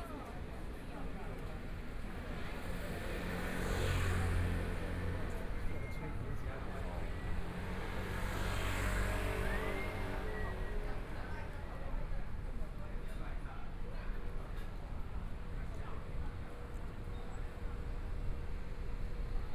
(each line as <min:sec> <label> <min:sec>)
0:00.0 Pedestrian 0:19.5
0:02.6 Traffic Sound 0:11.6